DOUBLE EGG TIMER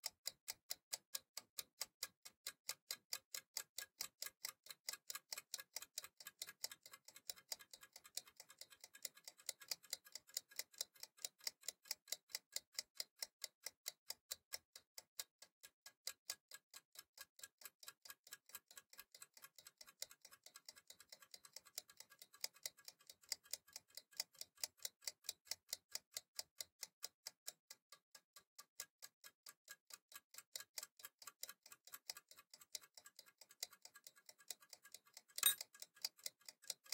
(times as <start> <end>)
35.2 36.9